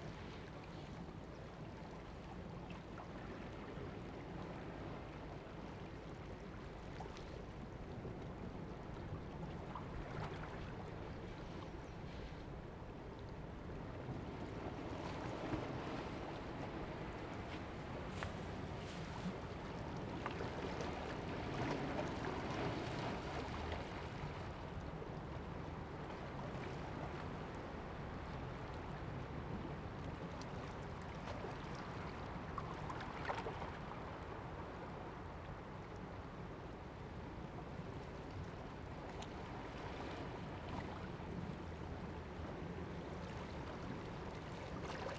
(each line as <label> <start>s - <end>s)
waves 0.0s - 45.1s